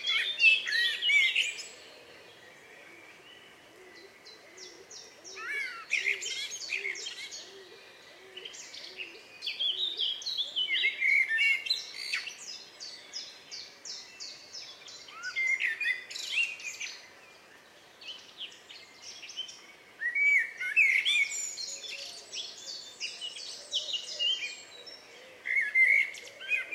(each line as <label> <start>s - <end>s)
Indian peafowl (peacock) 0.0s - 9.2s
pheasant 0.0s - 12.4s
blackbird 0.0s - 26.7s
pheasant 19.2s - 26.7s